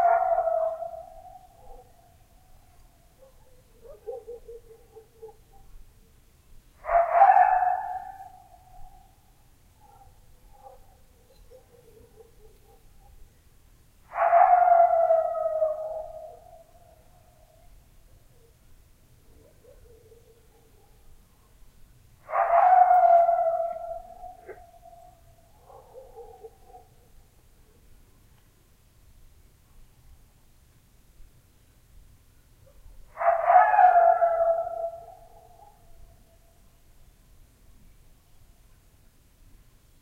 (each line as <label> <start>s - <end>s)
coyote 6.8s - 13.3s
coyote 14.0s - 18.6s
coyote 22.2s - 27.9s
coyote 32.6s - 36.6s